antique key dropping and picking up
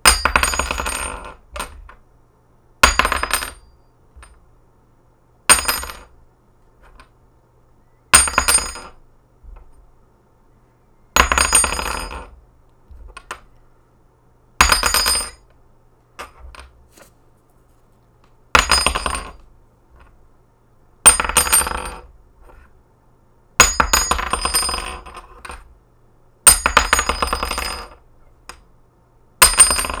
0:16.2 0:16.8

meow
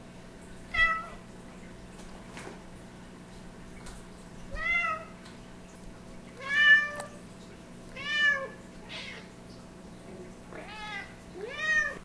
0:00.7 0:01.2, 0:04.6 0:05.1, 0:06.4 0:07.1, 0:08.0 0:09.3, 0:10.6 0:12.0

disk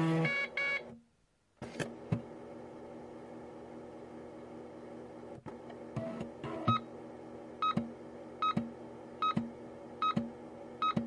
0:05.4 0:07.0

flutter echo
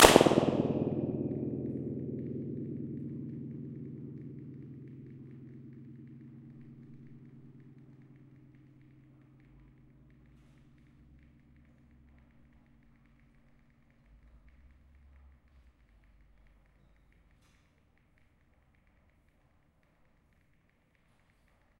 0:00.0 0:14.4

